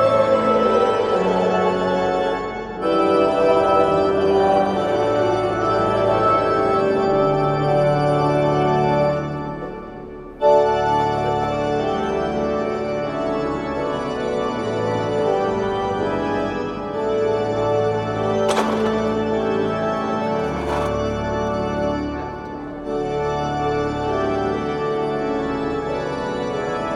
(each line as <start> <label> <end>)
0.0 Organ 26.9